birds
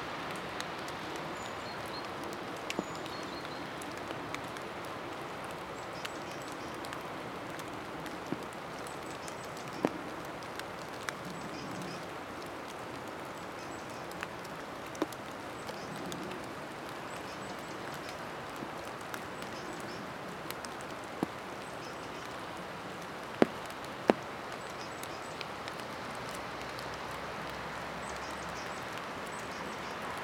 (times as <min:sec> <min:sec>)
0:01.0 0:04.6, 0:05.5 0:12.6, 0:23.4 0:25.9, 0:28.0 0:30.2